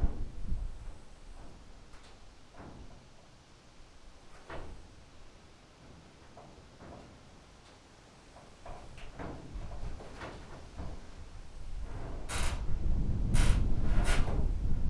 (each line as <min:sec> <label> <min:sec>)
0:09.1 bent pieces of its body groaning in the wind 0:14.8